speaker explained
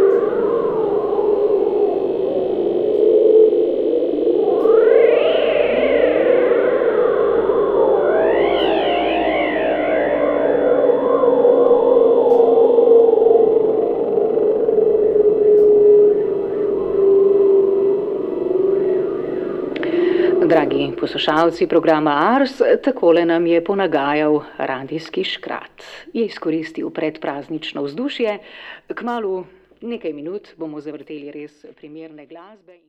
19.8 32.8

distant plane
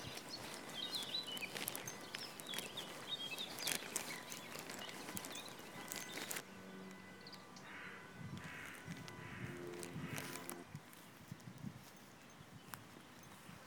4.7 10.7

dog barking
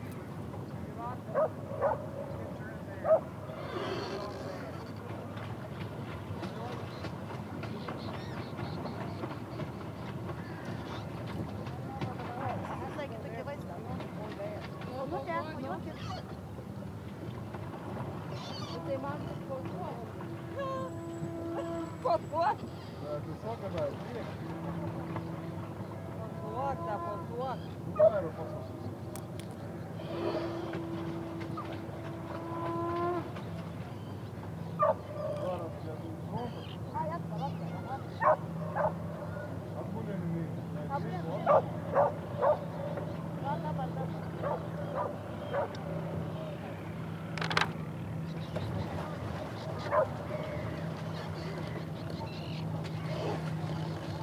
1.4 2.1, 3.0 3.3, 34.8 35.0, 38.2 39.0, 41.5 42.6, 44.4 45.7, 49.9 50.1

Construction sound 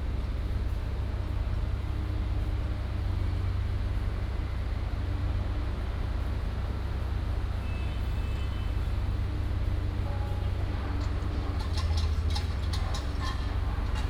10.0 14.0

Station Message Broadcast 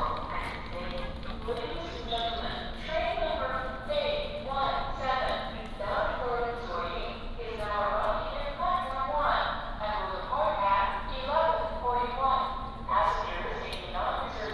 12.9 14.5

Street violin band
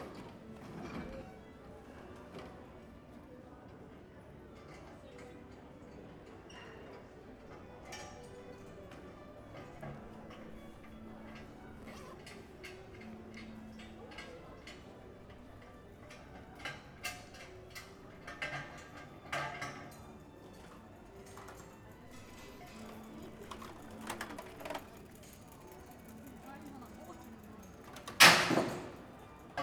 7.6 13.4

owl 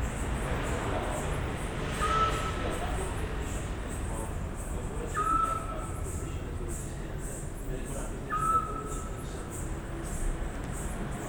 2.0 2.6, 5.1 6.2, 8.3 9.2

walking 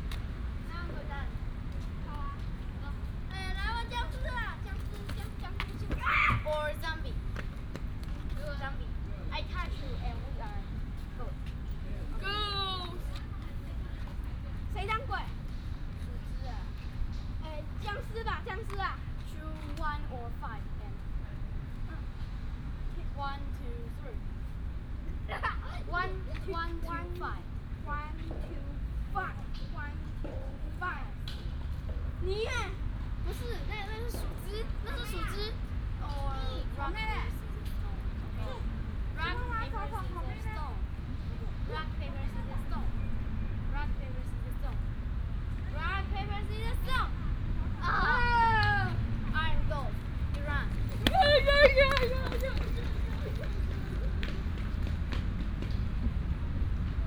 49.9 57.0

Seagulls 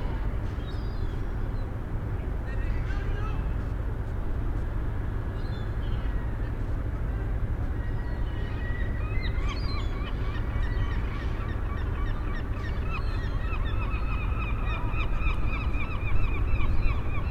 7.8 17.3

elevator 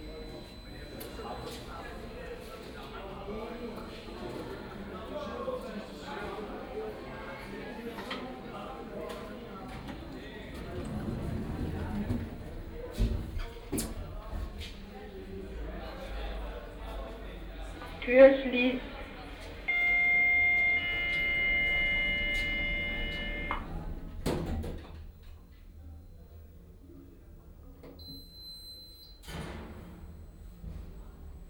10.5 12.7, 19.7 24.2

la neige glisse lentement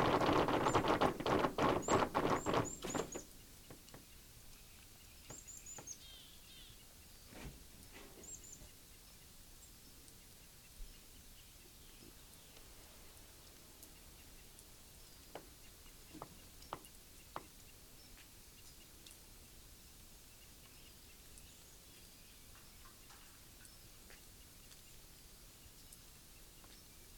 0.0 3.4

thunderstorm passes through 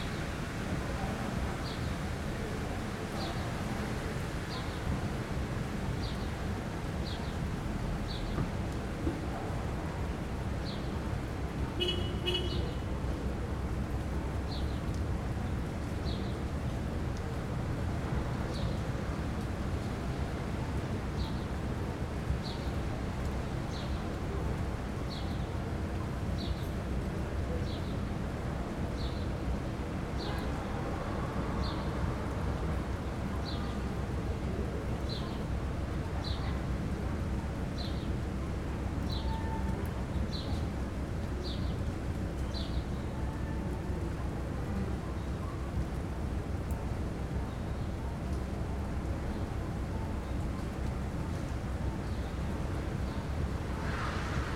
53.6 54.5

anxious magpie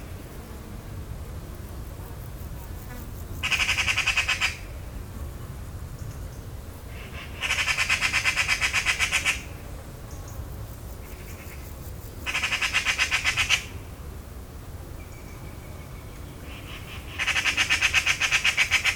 3.4 4.7, 6.9 9.5, 12.3 13.7, 16.4 18.9

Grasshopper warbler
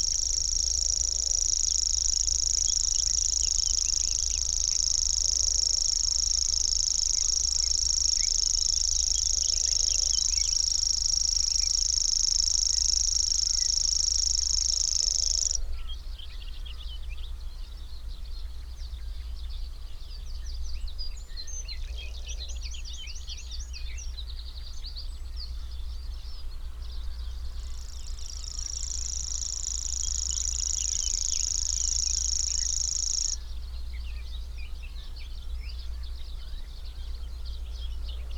0.0 15.6, 27.1 33.5

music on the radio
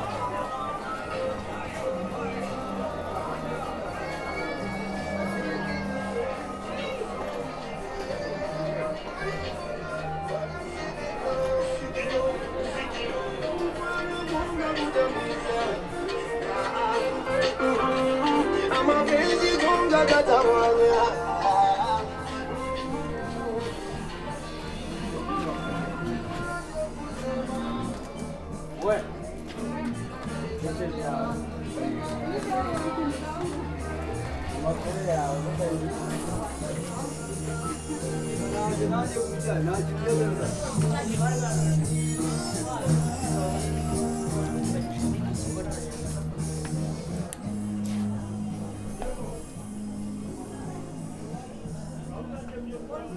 9.6 28.3

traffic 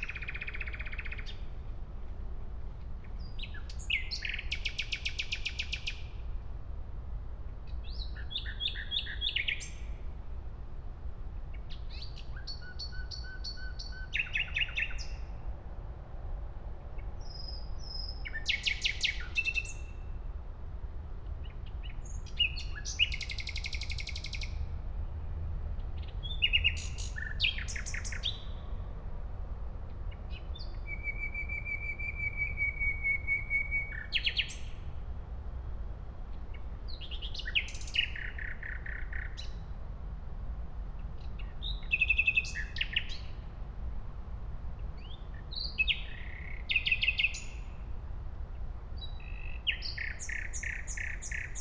15.3 18.2, 23.6 33.9

